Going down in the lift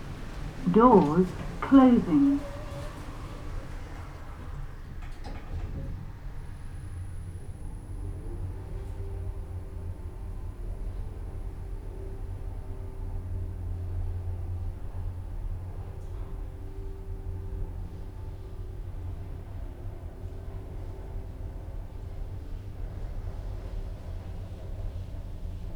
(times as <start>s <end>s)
0.0s 7.4s